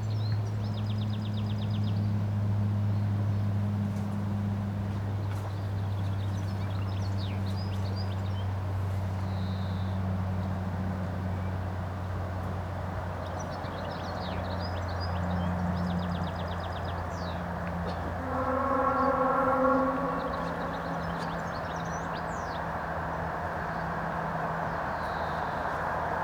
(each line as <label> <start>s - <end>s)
planes taking of 17.1s - 23.2s
racing train sounds 17.8s - 22.3s
ambulance 18.0s - 22.0s